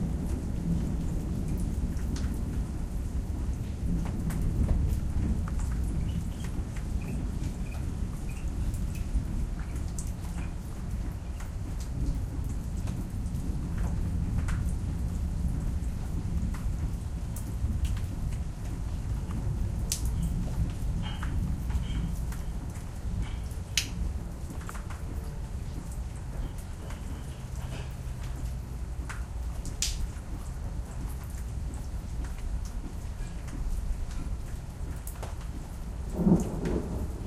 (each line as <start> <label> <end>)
0.0 thunder 10.5
36.0 thunder 37.2